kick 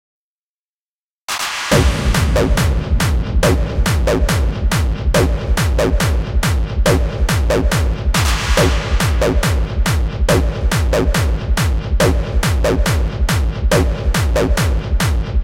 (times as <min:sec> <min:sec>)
0:01.7 0:09.6